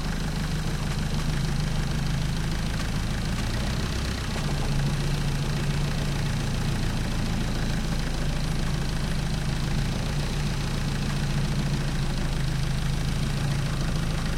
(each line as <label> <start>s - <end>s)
longboat rattly motor 0.0s - 14.3s